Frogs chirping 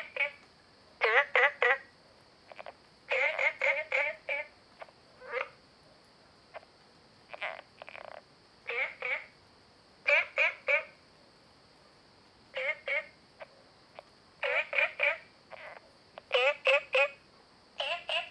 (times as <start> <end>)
0.0 5.6, 7.3 9.4, 10.0 11.0, 12.5 18.3